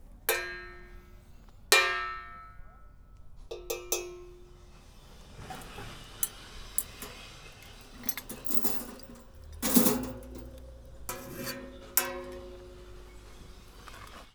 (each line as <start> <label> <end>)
4.6 Machines 14.3
5.1 Scrapes 14.3
5.4 rattle 14.2
5.4 Clanks 14.2